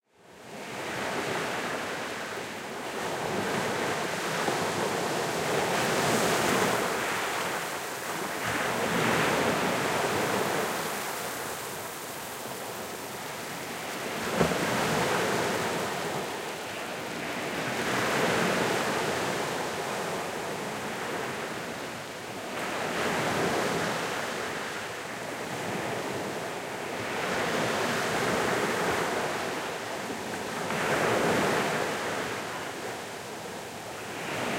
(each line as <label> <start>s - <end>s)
waves and foams 0.4s - 34.5s